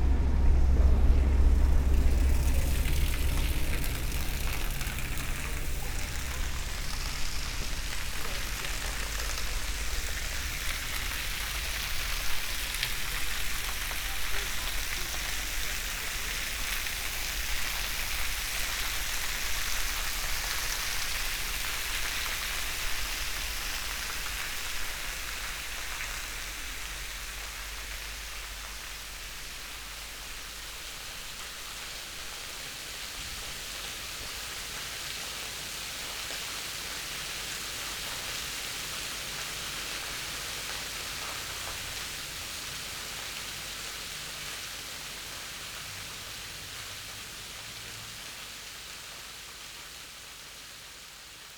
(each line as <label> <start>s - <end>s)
escalators, going to the top and making drone sounds 0.0s - 13.0s